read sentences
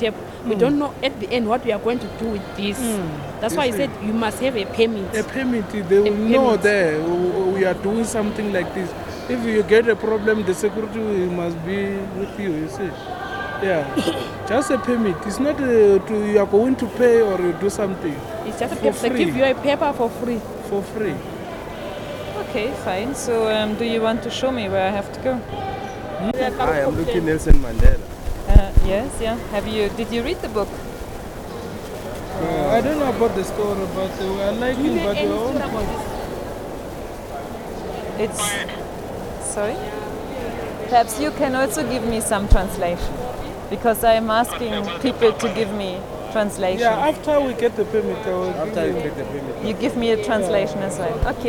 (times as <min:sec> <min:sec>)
0:00.0 0:20.1, 0:38.1 0:39.8, 0:40.9 0:47.2